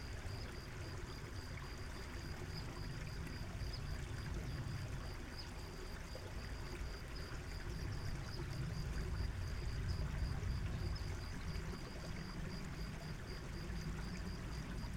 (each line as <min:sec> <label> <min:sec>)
0:00.0 crickets 0:14.9